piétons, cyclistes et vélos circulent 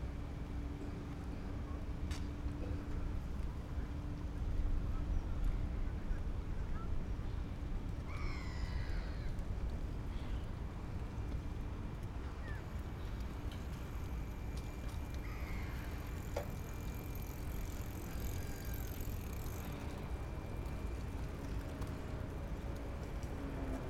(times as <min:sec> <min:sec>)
0:09.3 0:23.8